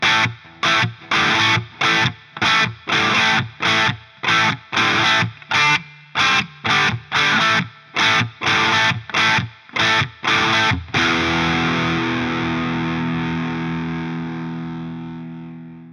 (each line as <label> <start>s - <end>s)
Guitar riff 0.0s - 15.9s